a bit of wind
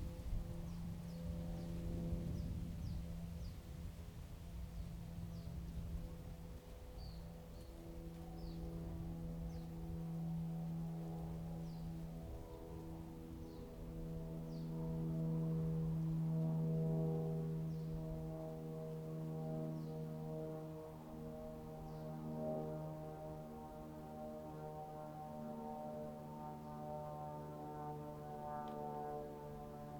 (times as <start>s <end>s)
0.0s 19.0s